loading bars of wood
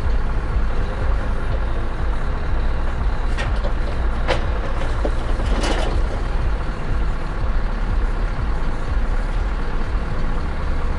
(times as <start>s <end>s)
3.3s 6.2s